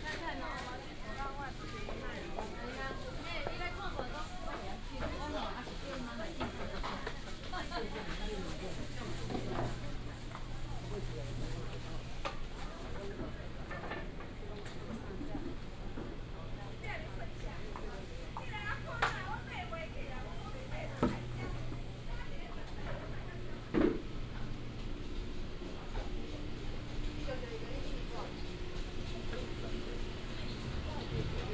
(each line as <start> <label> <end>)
0.0 Walking in the market 31.5